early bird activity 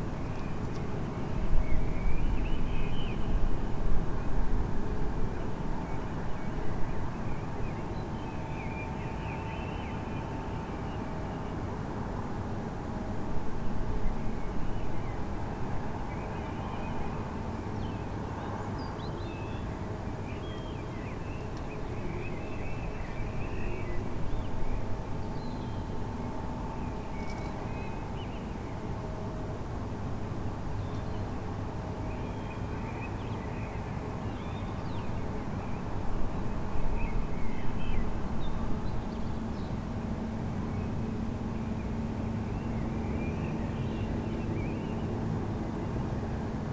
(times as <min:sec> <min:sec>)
0:18.0 0:29.0